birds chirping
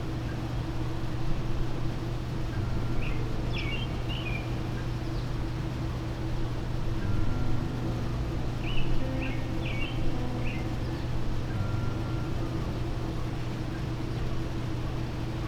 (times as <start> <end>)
7.0 14.8